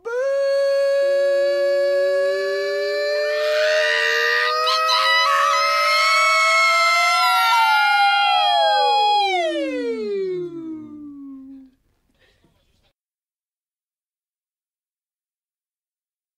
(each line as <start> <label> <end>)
0.0 screaming voices 11.1